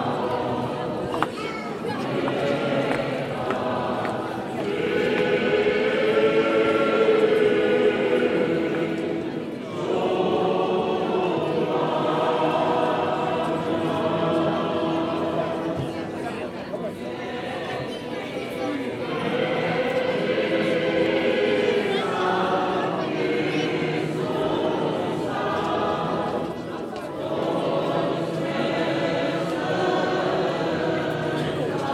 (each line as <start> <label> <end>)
0.0 voices in the porch 31.9
1.8 singing inside 16.2